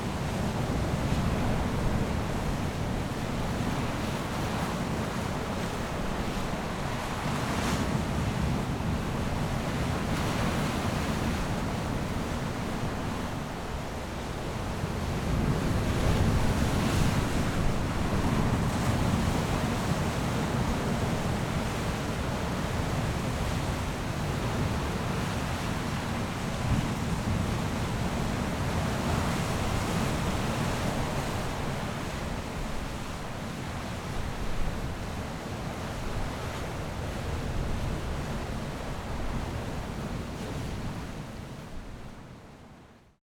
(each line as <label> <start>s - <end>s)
waves 0.0s - 43.2s